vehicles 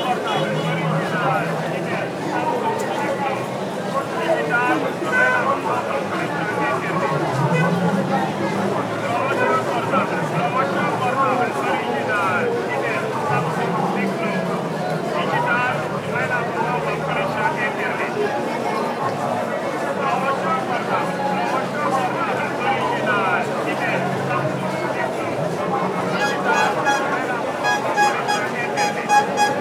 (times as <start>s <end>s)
24.2s 29.6s